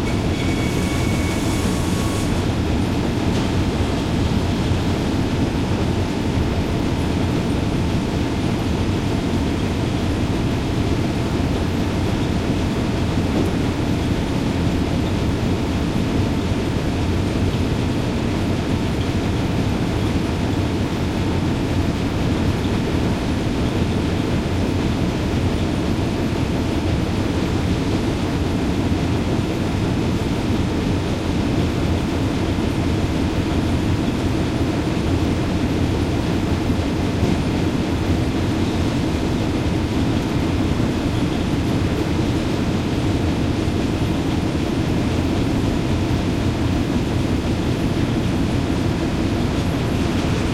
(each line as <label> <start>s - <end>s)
noises of the saw mill 0.0s - 6.1s
Conveyor belts 0.0s - 50.5s